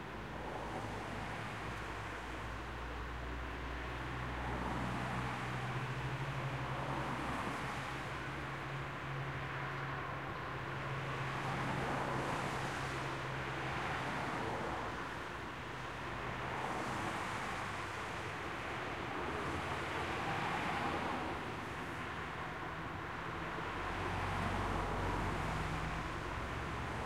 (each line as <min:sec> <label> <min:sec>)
0:00.0 Distant Traffic Wet Road 0:27.0